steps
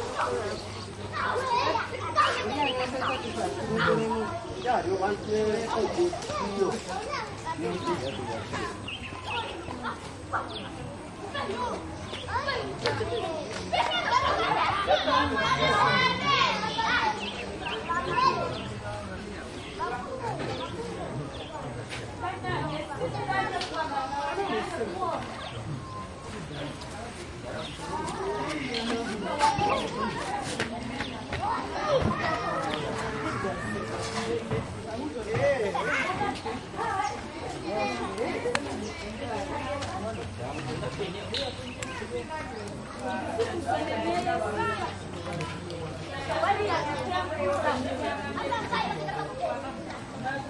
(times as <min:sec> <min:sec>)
0:26.7 0:37.3